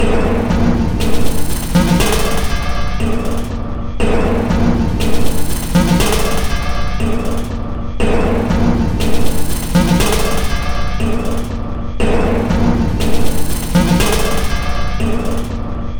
Drum 0:00.0 - 0:15.9

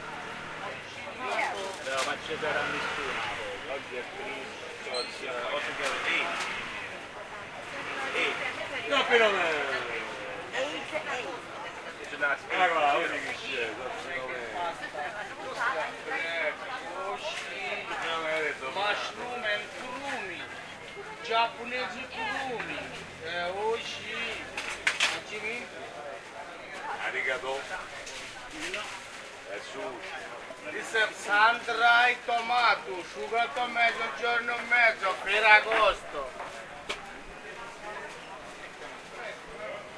Peoples are byuing vegetables 0:00.0 - 0:39.9
Vendors present their products 0:00.0 - 0:39.9

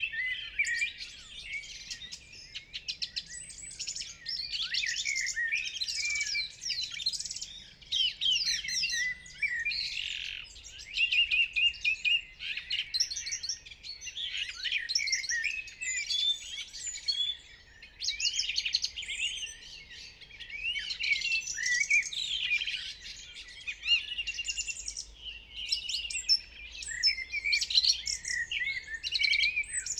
Eurasian blackbird 0:00.0 - 0:29.9
Eurasian blackcap 0:00.0 - 0:29.9
song thrush 0:00.0 - 0:29.9

